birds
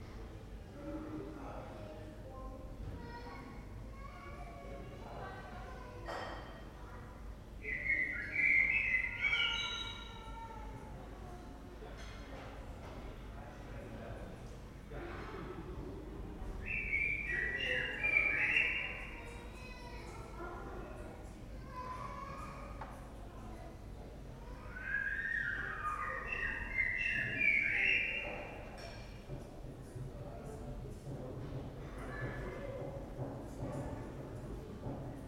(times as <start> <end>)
7.6 10.3, 16.6 19.8, 24.8 29.0